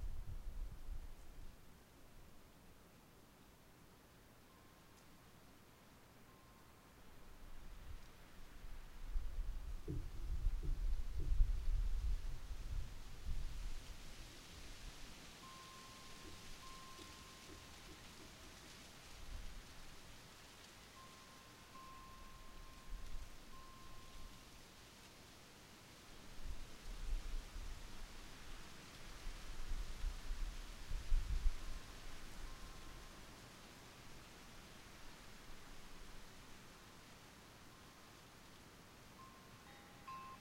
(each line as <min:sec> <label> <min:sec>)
0:00.0 wind 0:40.4
0:04.5 wind chimes 0:05.0
0:06.3 wind chimes 0:06.9
0:15.3 wind chimes 0:18.9
0:20.8 wind chimes 0:24.6
0:32.1 wind chimes 0:33.4
0:39.1 wind chimes 0:40.4